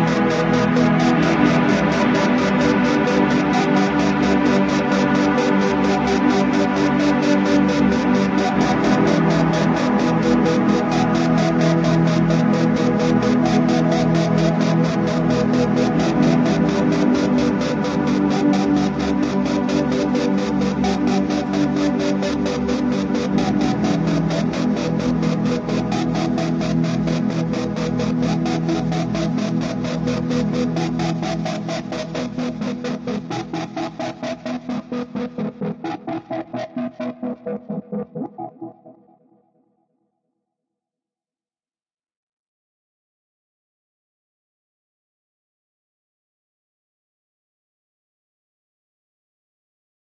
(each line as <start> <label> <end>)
0.0 drone 38.9